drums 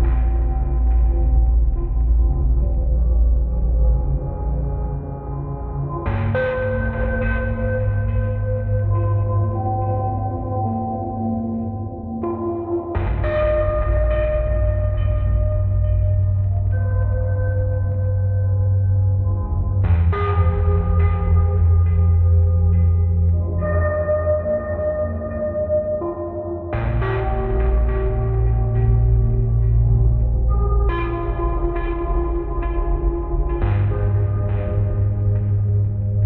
0.0 4.8, 5.9 10.0, 12.9 18.0, 18.6 23.8, 26.8 36.2

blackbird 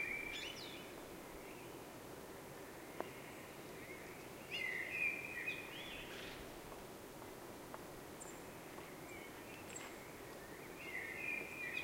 8.2 11.8

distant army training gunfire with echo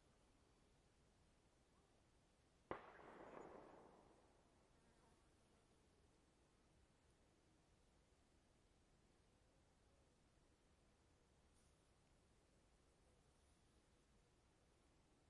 2.7 4.7

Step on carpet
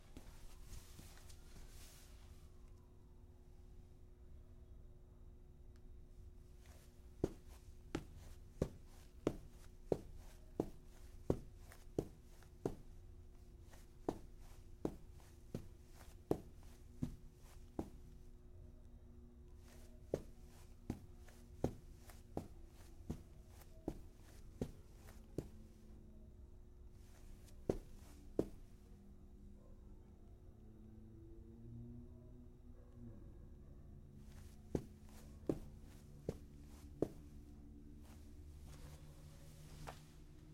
6.6 12.9, 13.7 18.0, 19.6 25.5, 27.2 28.7, 34.3 37.3

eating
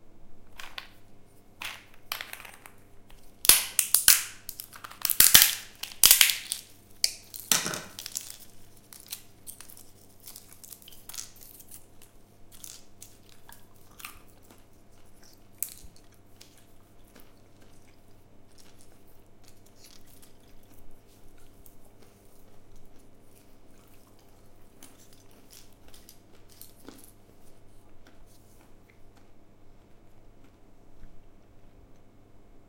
12.6 32.1

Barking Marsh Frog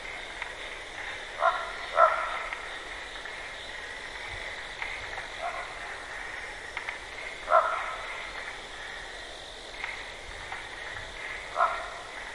1.0 2.8, 5.3 6.6, 7.3 9.1, 10.8 12.3

